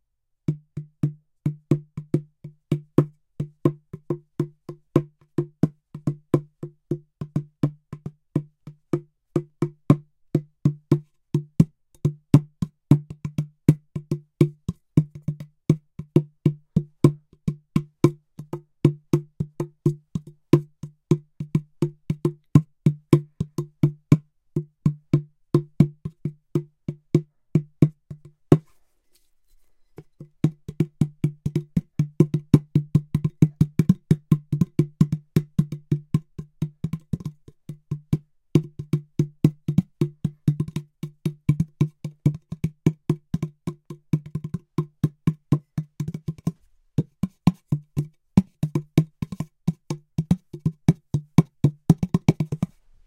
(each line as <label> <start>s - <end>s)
bongo like device sounds with various drum patterns 30.2s - 52.7s